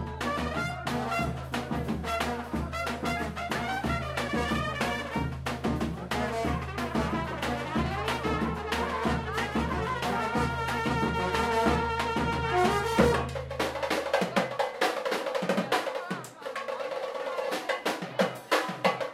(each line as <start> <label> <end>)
0.0 brass 14.4